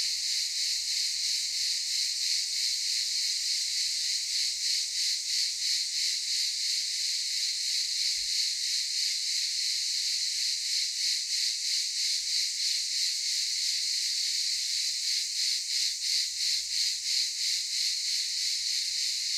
0.0s Cicadas 19.3s

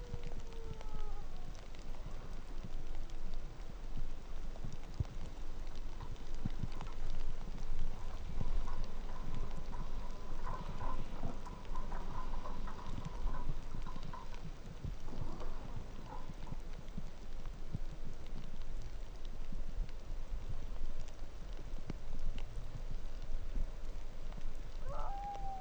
0.0s dogsled huskies crying 1.9s
0.0s rain on snow 25.6s
5.4s snowplow 16.7s
24.8s dogsled huskies crying 25.6s

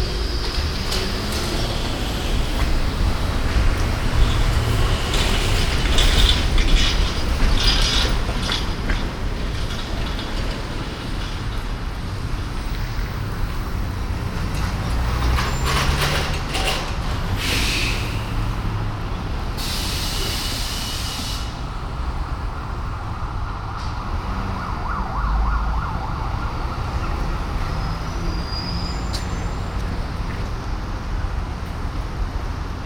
0.0s traffic 32.8s

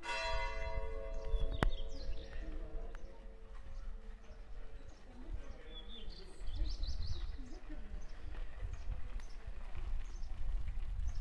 0.0s people talking in the square 11.2s
0.6s birds 11.2s

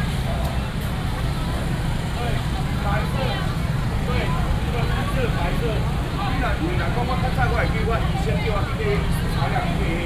0.0s Street vendors selling voice 10.0s

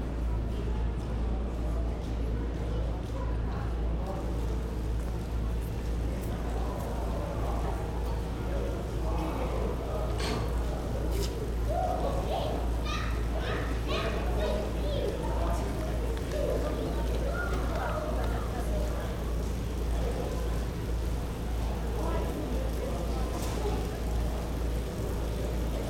0.0s announcements are loud 25.8s
4.2s rain falling 25.8s

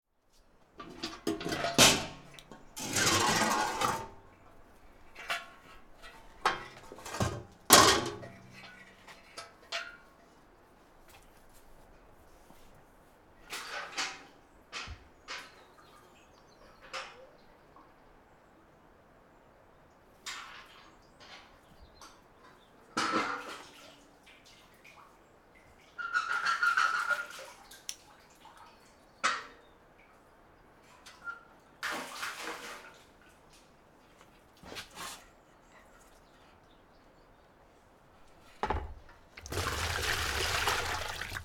0.7s getting water from the cisterne 9.7s
38.4s getting water from the cisterne 41.4s

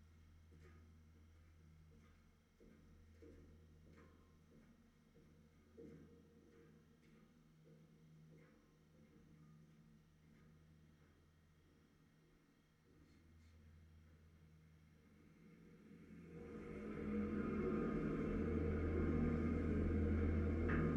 0.1s steps of people on the bridge 13.0s

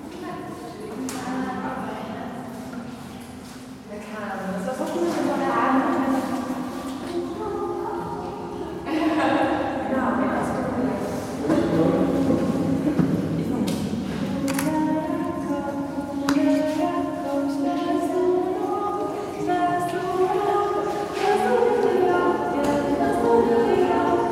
0.0s singing in pump room 24.3s

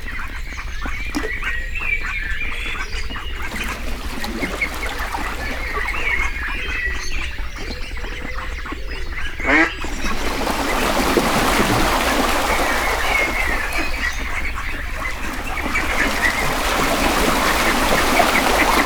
9.5s Hungry mallard greet the day 18.8s

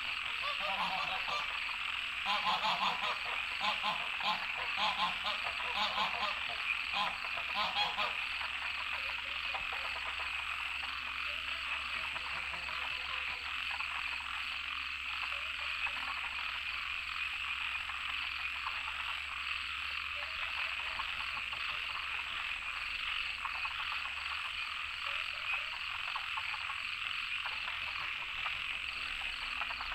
0.0s Goose calls 10.4s
0.0s Various frogs chirping 29.9s
11.2s Goose calls 13.5s

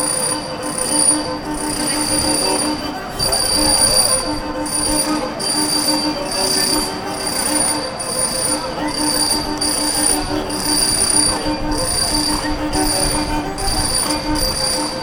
0.0s marteaux 15.0s

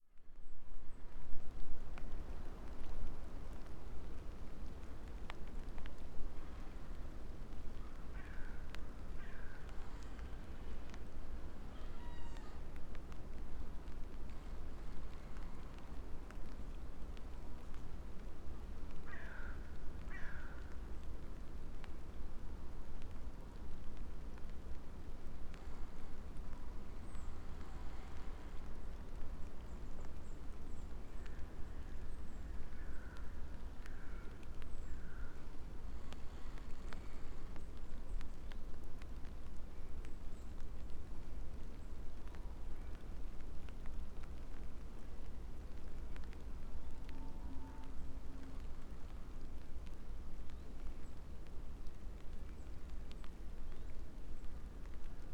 0.0s light rain 55.3s
8.1s crows 8.6s
9.2s crows 9.7s
11.7s crows 12.7s
19.1s crows 20.7s
33.9s crows 35.4s

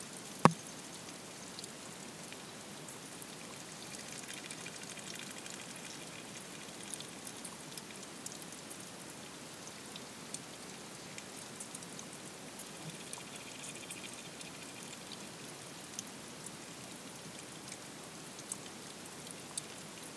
12.8s underwater creatures 15.2s

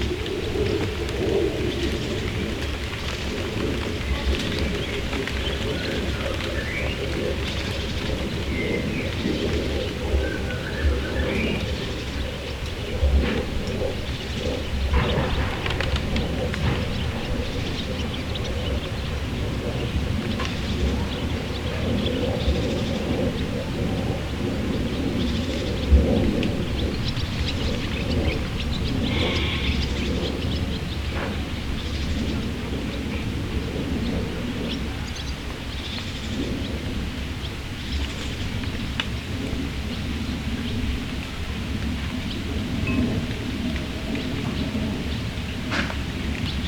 0.0s birds 46.6s
0.0s plane 46.6s
29.0s goats 30.1s

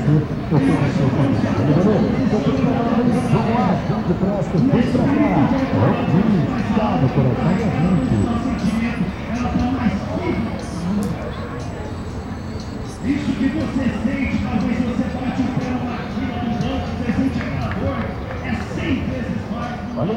0.0s evangelizer preached with the aid of a microphone and sound box 12.0s
12.8s evangelizer preached with the aid of a microphone and sound box 20.1s

